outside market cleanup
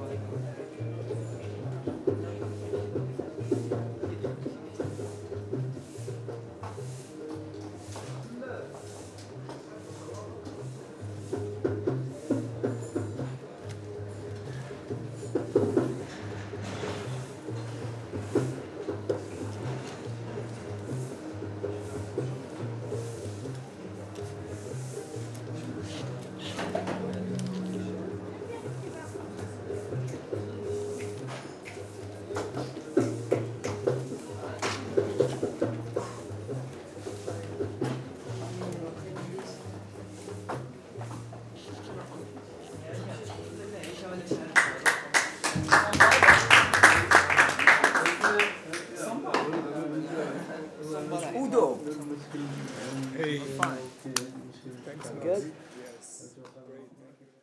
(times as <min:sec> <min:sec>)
0:03.4 0:42.9